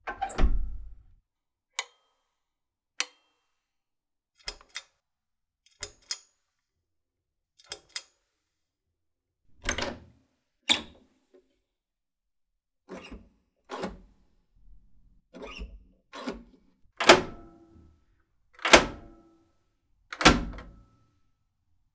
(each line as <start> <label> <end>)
17.0 brass and iron lever style door handles 17.8
17.0 contemporary brass and steel door mechanism 17.8
17.0 brass knob and push switch 17.6
18.6 contemporary brass and steel door mechanism 19.2
18.6 brass and iron lever style door handles 19.3
18.6 brass knob and push switch 19.2
20.2 contemporary brass and steel door mechanism 20.8
20.2 brass and iron lever style door handles 20.8